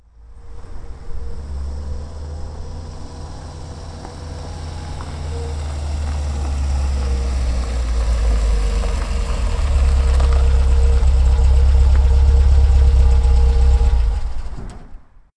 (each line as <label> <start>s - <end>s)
MG-B arriving 0.2s - 14.7s
engine being turned off 1.1s - 15.0s